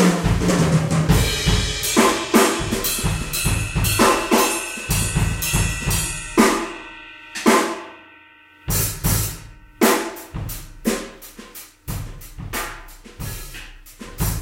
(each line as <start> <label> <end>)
0.0 Drum Solo 14.4